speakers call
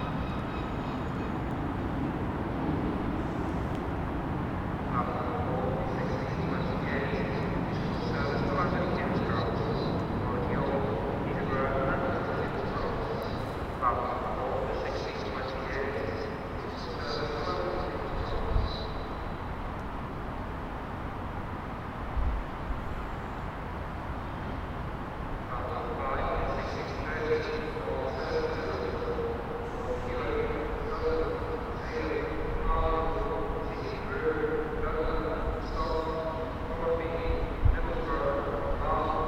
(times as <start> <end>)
4.9 19.0, 25.5 39.2